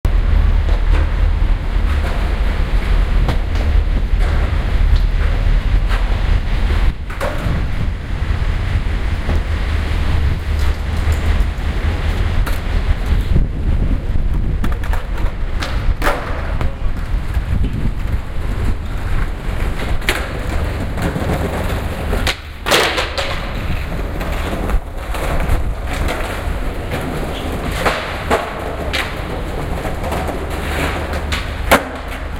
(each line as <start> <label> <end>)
0.1 skaters 32.3